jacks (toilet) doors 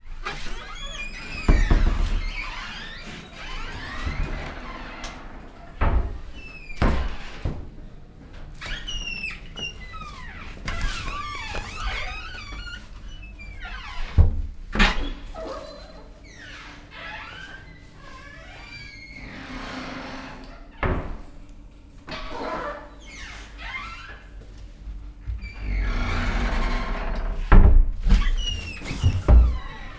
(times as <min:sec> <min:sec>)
0:25.2 0:29.9